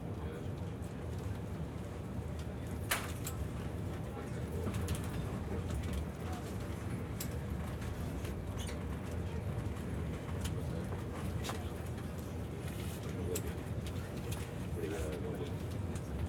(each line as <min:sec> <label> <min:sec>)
0:08.8 talking to some of the passengers 0:16.2